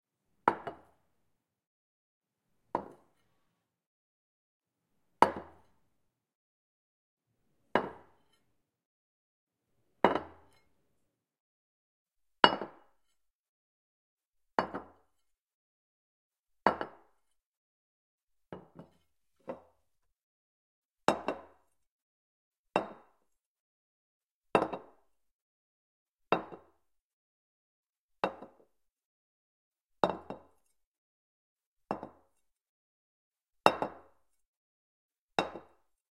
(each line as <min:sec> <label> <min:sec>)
0:18.6 ceramic plates being set on a wooden table 0:19.6